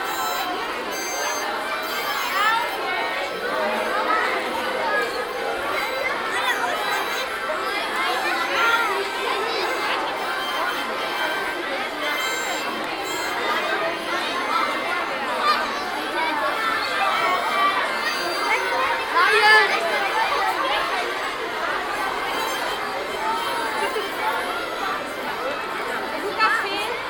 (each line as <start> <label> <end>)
0.0 blues harp orgy by kids 4.5